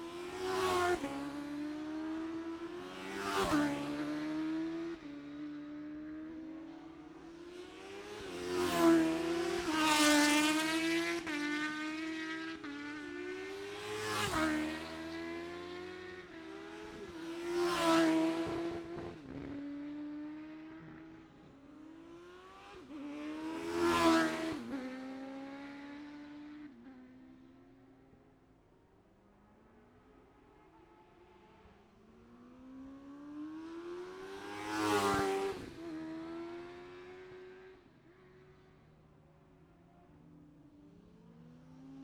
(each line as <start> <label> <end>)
0.1 Classic Superbikes 28.4